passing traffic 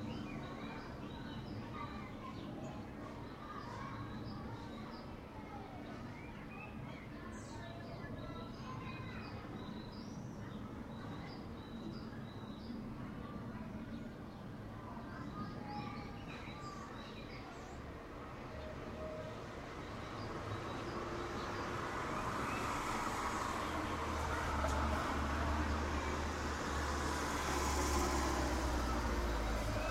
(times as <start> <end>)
17.6 29.9